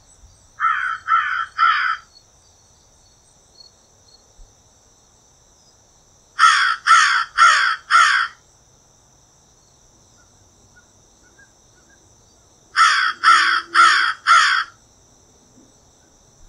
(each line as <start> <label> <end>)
0.6 single crow cawing 2.1
6.4 single crow cawing 8.4
12.8 single crow cawing 14.8